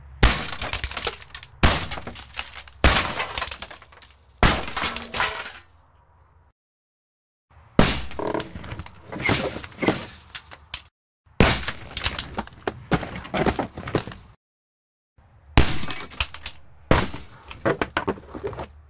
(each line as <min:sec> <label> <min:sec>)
0:00.2 window break glass shatter 0:05.7
0:07.8 window break glass shatter 0:12.4
0:15.6 window break glass shatter 0:17.3